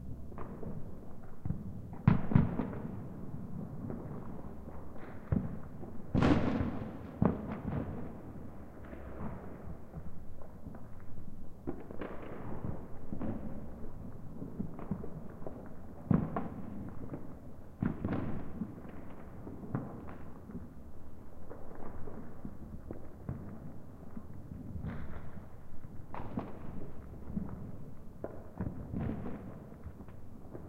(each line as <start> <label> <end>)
0.0 firecrackers 30.6